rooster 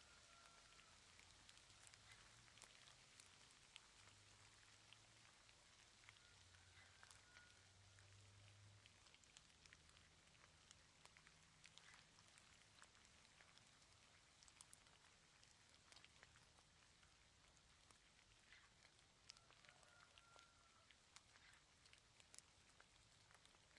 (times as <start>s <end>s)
0.0s 1.0s, 6.0s 8.1s, 19.3s 21.6s